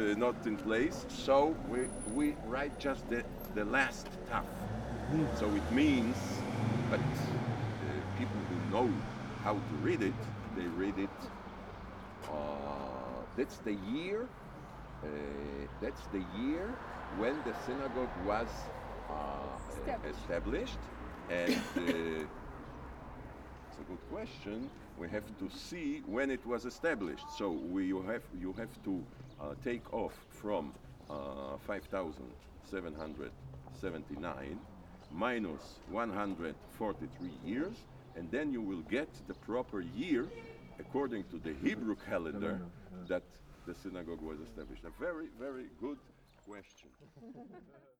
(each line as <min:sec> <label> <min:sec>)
0:00.0 Sunday bells of the nearby church 0:04.7